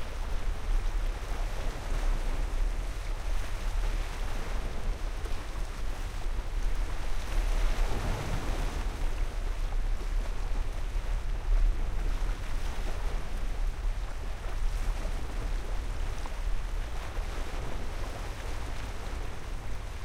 waves 0:00.0 - 0:20.0

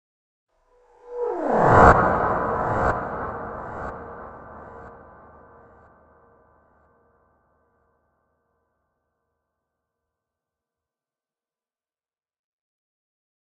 Rise effect 0:00.8 - 0:05.8

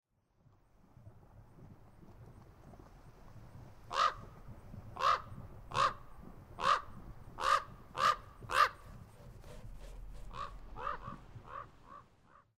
Common Raven 0:03.9 - 0:04.2
Common Raven 0:05.0 - 0:12.5

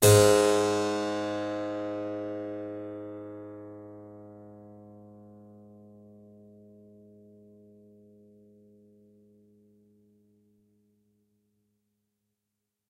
Harpsichord 0:00.0 - 0:03.2

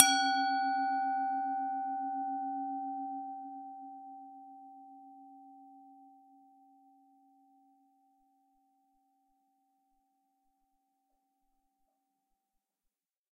Tibetan bowl left hit 0:00.0 - 0:01.3

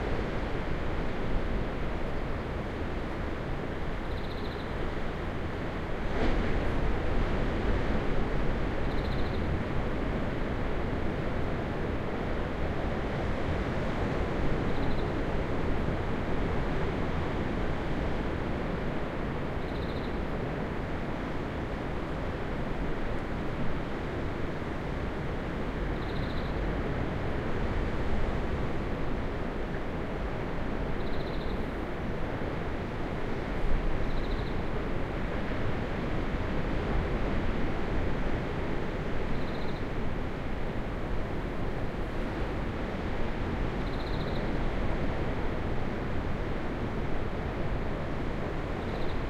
wind 0:00.0 - 0:49.2

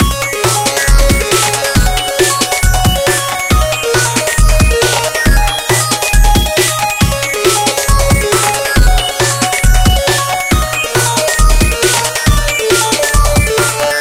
drum track 0:00.0 - 0:14.0

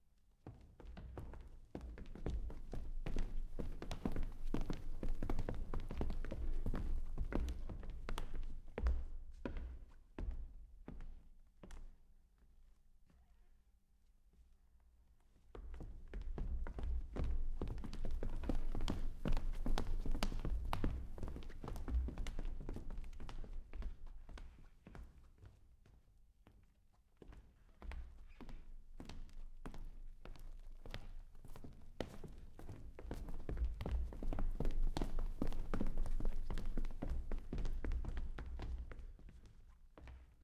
walking on wooden stage 0:00.4 - 0:12.0
walking on wooden stage 0:14.3 - 0:40.4

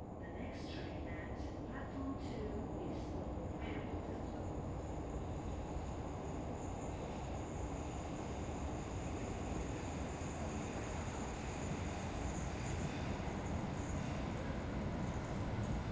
train metro subway arrives at station 0:00.0 - 0:15.9

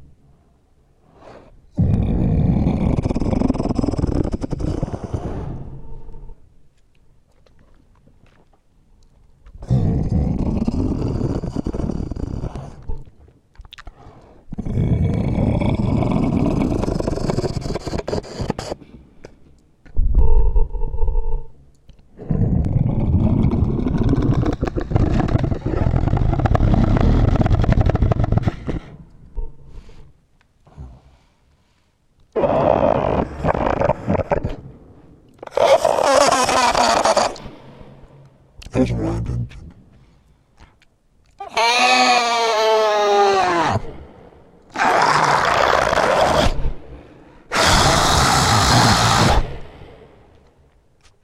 growling 0:01.7 - 0:06.3
growling 0:09.6 - 0:13.0
growling 0:14.4 - 0:18.8
growling 0:22.1 - 0:30.1
growling 0:32.3 - 0:34.8
growling 0:35.4 - 0:38.3
screeches 0:35.4 - 0:37.6
screeches 0:41.4 - 0:43.9
growling 0:41.4 - 0:50.4
screeches 0:44.7 - 0:46.7
screeches 0:47.5 - 0:49.8

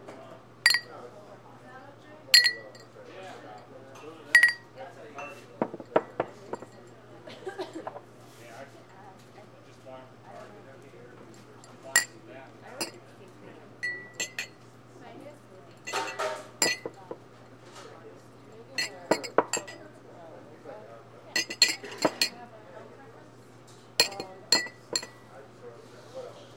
empty glasses clinking together on th ecounter 0:00.7 - 0:01.0
empty glasses clinking together on th ecounter 0:02.4 - 0:02.9
empty glasses clinking together on th ecounter 0:04.3 - 0:07.0
empty glasses clinking together on th ecounter 0:11.6 - 0:13.0
empty glasses clinking together on th ecounter 0:13.8 - 0:14.6
empty glasses clinking together on th ecounter 0:15.8 - 0:17.2
empty glasses clinking together on th ecounter 0:18.6 - 0:19.9
empty glasses clinking together on th ecounter 0:21.3 - 0:22.4
empty glasses clinking together on th ecounter 0:24.0 - 0:25.3

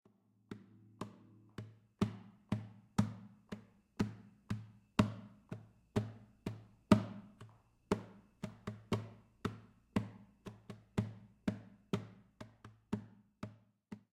slapping the base of my acoustic guitar 0:00.5 - 0:05.3

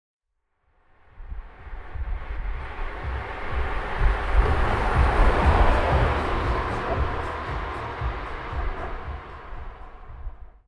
car with loud music inside 0:01.3 - 0:10.6

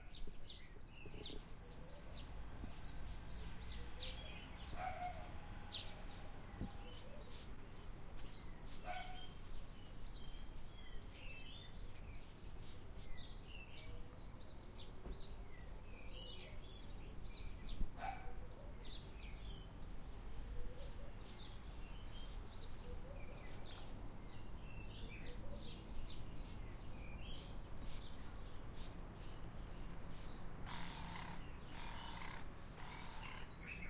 Birds Chirping 0:00.0 - 0:33.8
lights wind breeze 0:00.0 - 0:33.8
dog barking in background 0:04.7 - 0:05.4
dog barking in background 0:08.9 - 0:09.3
dog barking in background 0:18.0 - 0:18.5

